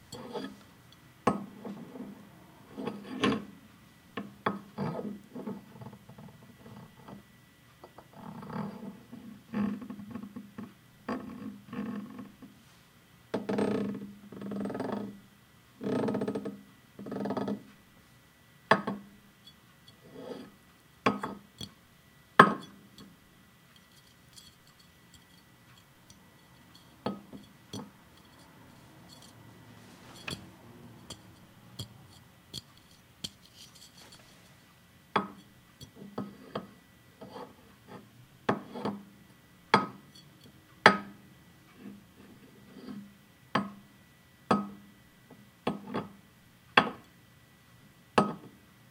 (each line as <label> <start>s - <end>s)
Handling sounds of a beer bottle 23.8s - 34.6s